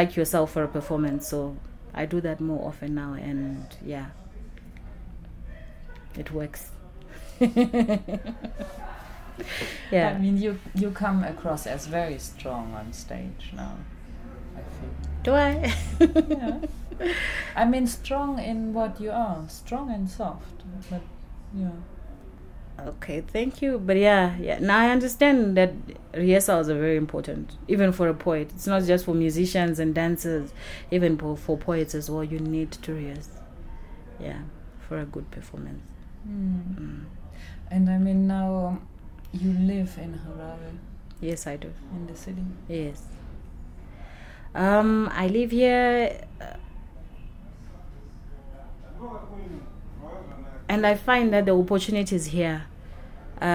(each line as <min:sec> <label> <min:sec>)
0:00.0 conversation 0:53.5
0:00.0 people’s voices roaming through Book Café 0:53.5
0:08.4 muffled sounds of the rush-hour city 0:17.0